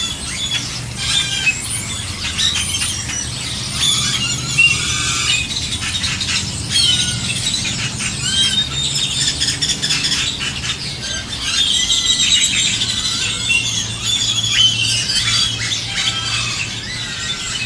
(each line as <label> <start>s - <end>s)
airplane flying overhead 0.0s - 17.6s
car engines 0.0s - 17.6s